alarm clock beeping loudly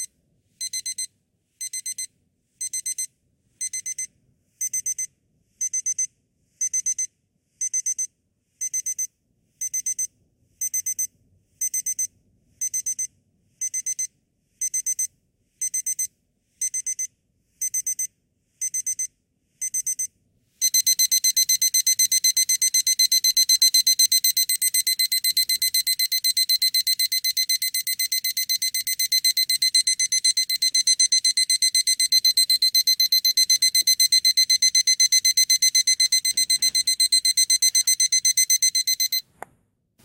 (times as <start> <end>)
19.7 39.3